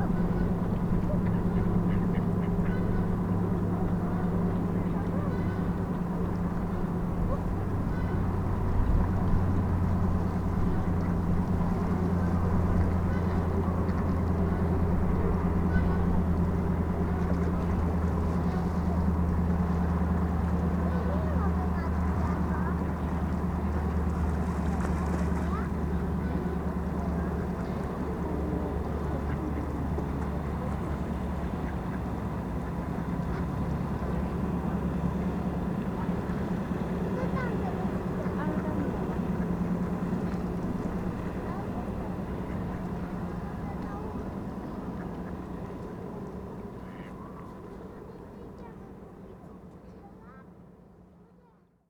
mother and child feed ducks 0.0 - 51.1
towboat passes by 0.0 - 51.8
cars crossing the bridge 25.3 - 48.3

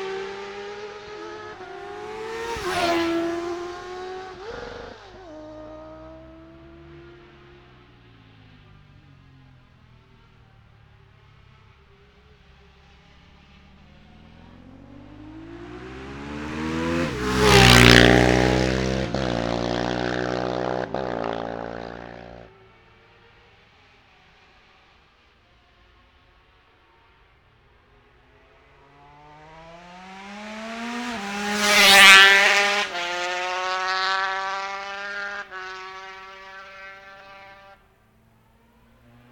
motorcycle road racing 0.0 - 39.3

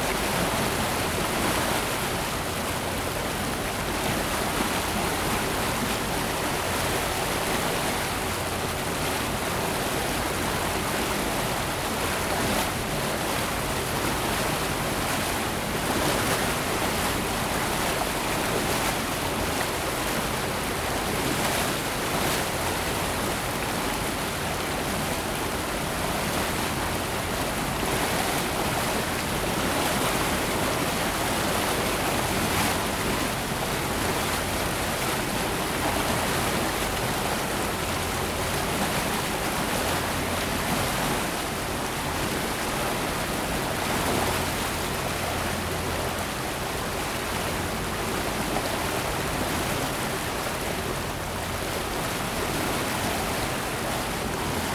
Boat trip 0.0 - 54.7

